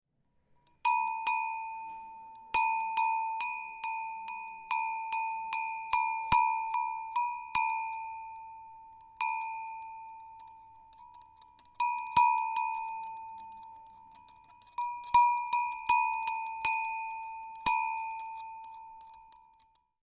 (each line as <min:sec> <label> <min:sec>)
0:00.8 cowbell 0:20.0